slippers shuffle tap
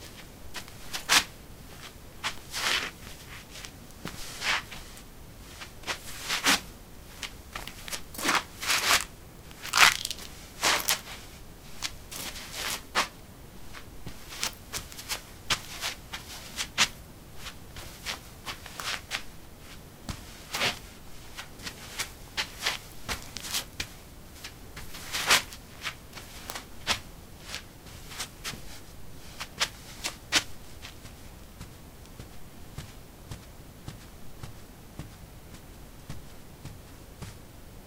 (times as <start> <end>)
13.7 28.8, 29.4 37.5